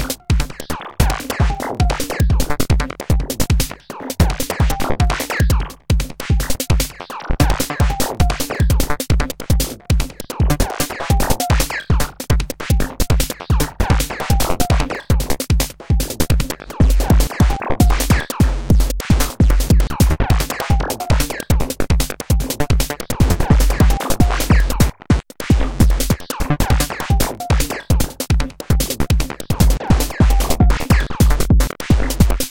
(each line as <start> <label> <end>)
0.0 snare 5.5
0.0 bass 32.5
6.1 snare 21.8
22.4 snare 32.5
25.6 synthesizer 32.5